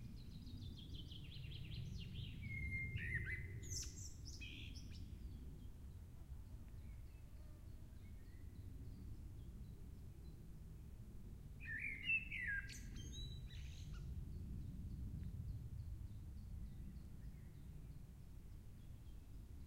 birds 0.0 - 10.5
aircraft 0.0 - 19.6
wind 0.0 - 19.6
birds 11.6 - 19.6

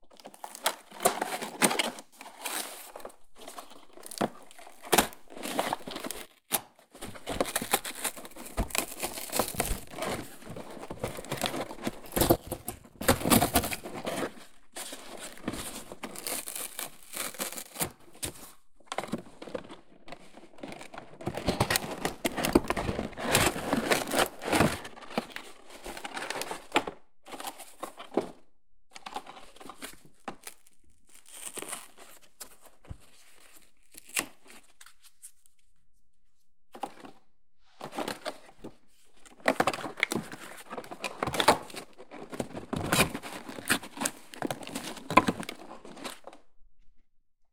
cardboardbox tearing 4.0 - 18.0
cardboardbox tearing 21.6 - 25.3

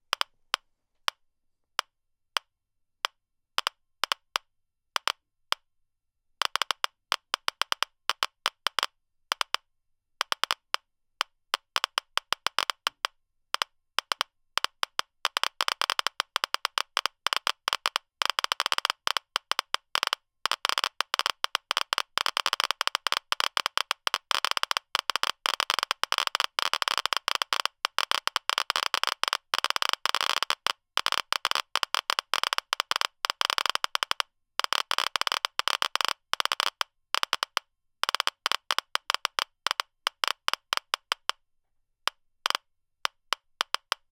Geiger click sound 31.4 - 41.4
Geiger click sound 42.0 - 44.0

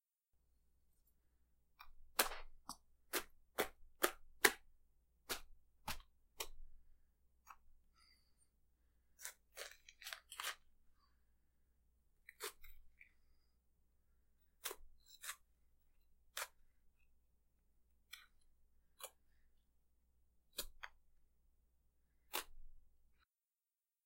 person receiving multiple small stab wounds 1.8 - 6.6

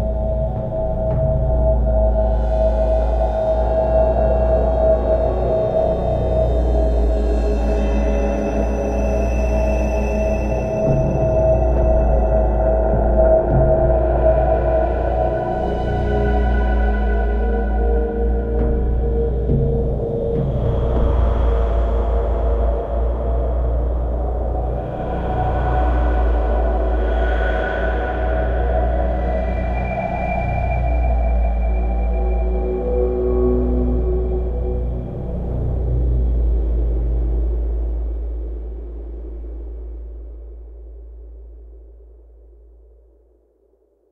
synthesizer 0.0 - 42.0

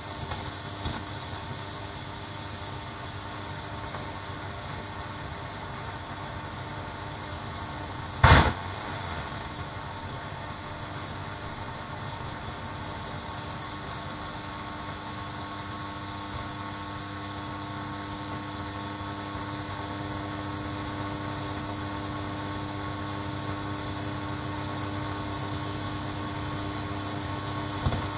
short static noises 0.0 - 15.2
tube radio shortwave longwave noise interference 0.0 - 28.1

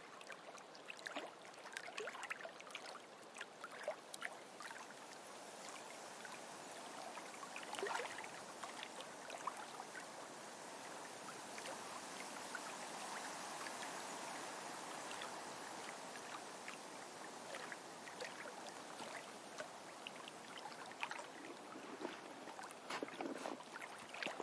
Waves 0.0 - 24.4
rain 0.0 - 24.4
wind 0.0 - 24.4

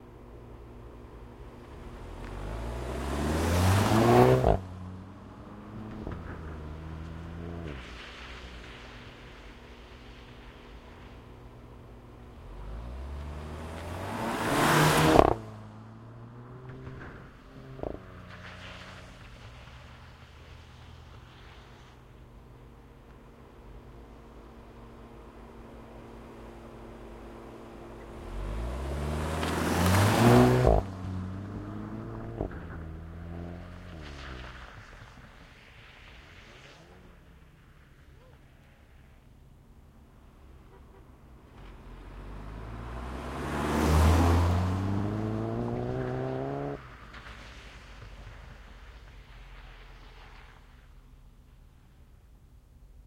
VW Golf GTI pulling away 0.1 - 37.1
VW Golf GTI pulling away 41.4 - 50.4

